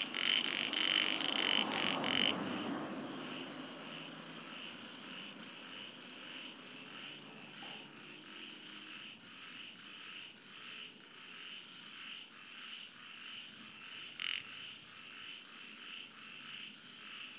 Chorus of three species of frogs 0:00.0 - 0:17.3

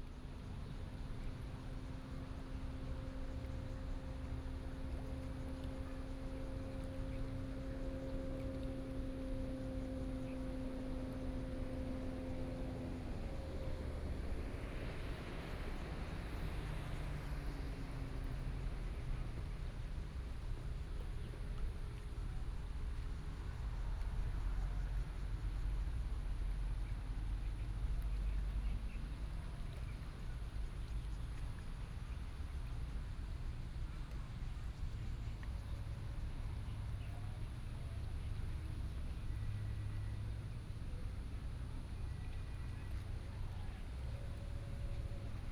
Yacht on the lake 0:00.0 - 0:45.5
Traffic Sound 0:09.2 - 0:20.4

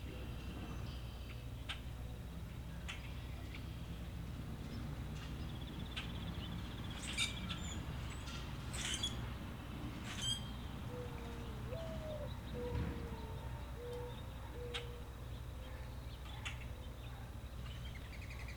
wildlife sounds 0:10.0 - 0:16.0

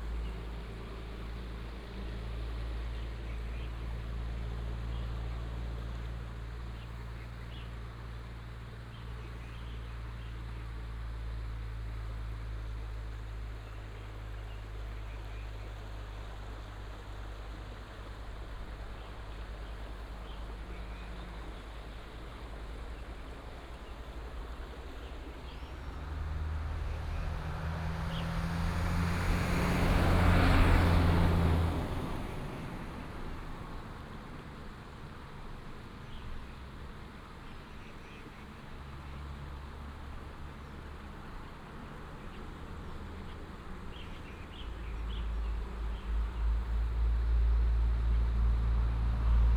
stream 0:00.0 - 0:49.5
Traffic sound 0:13.0 - 0:49.5

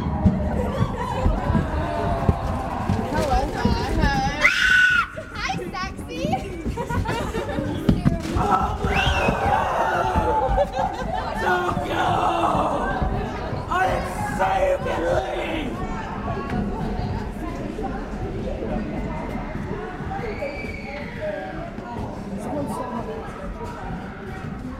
Young teenagers pass through 0:00.0 - 0:24.7

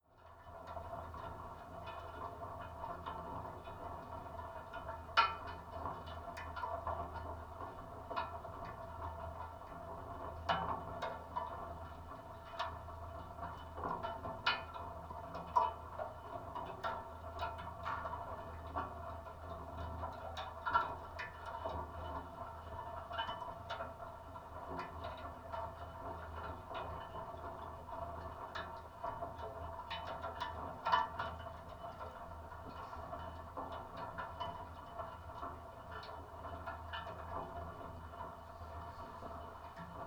iron furnace at work 0:00.1 - 0:40.0

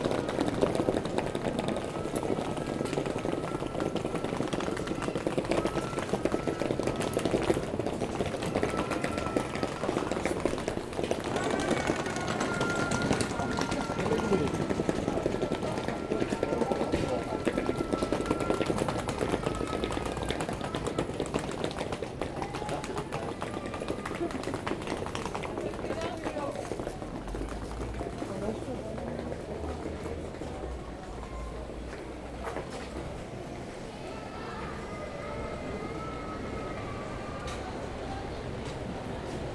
bags on it 0:00.0 - 0:28.4

